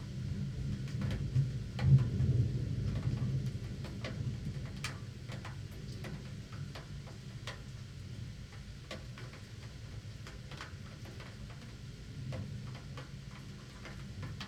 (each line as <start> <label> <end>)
0.0 thunderstorm 9.4
0.0 rain 14.4